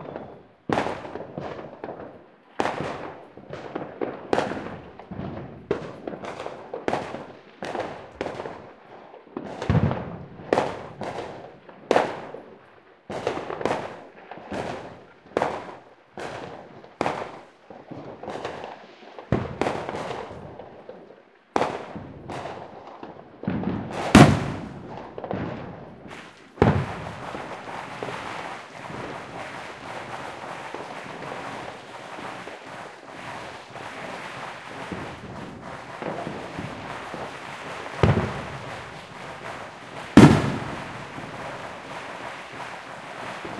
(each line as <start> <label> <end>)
0.0 fireworks 43.5